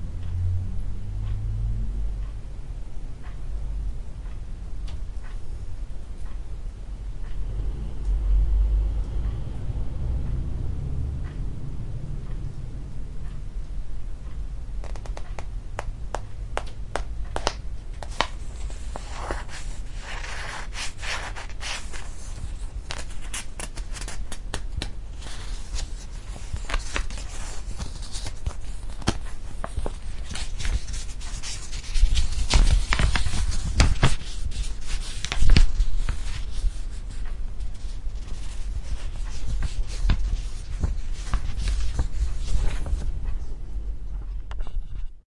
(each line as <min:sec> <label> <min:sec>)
0:01.2 ticking clock 0:05.4
0:07.4 cars passing 0:13.1
0:09.0 ticking clock 0:14.6
0:14.8 turning pages 0:15.5
0:16.2 turning pages 0:43.5